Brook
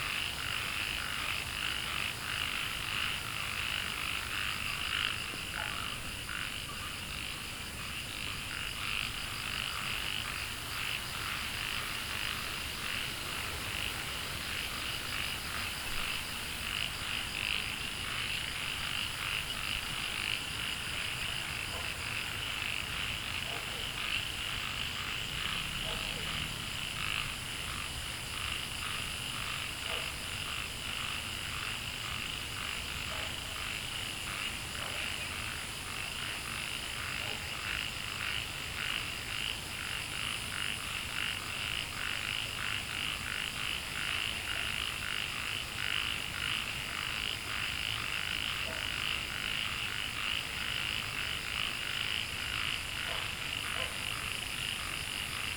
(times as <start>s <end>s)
0.0s 25.2s